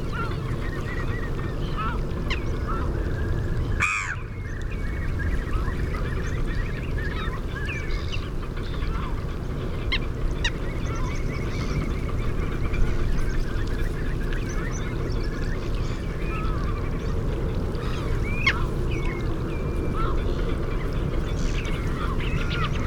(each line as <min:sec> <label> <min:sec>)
0:00.0 canada goose 0:22.8
0:00.0 curlew 0:22.8
0:00.0 herring gull 0:22.8
0:03.8 black-headed gull 0:04.3